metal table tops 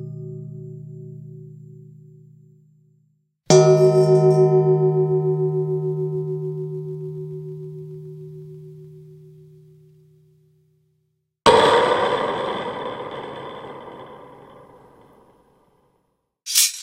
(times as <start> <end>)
16.5 16.8